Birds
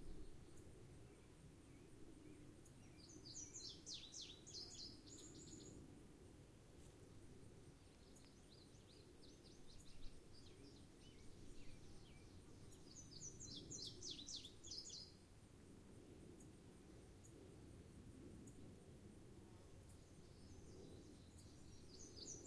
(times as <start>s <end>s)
0.0s 5.8s, 7.8s 15.3s, 19.8s 22.4s